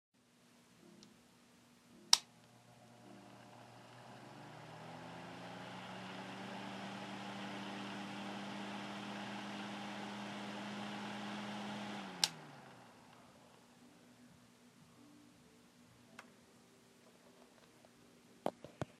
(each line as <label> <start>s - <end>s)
Opening and Closing a Small Electric Fan 2.1s - 13.2s